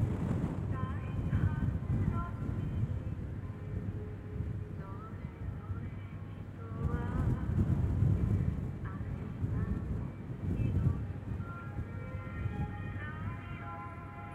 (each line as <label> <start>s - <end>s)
very windy place 0.0s - 14.3s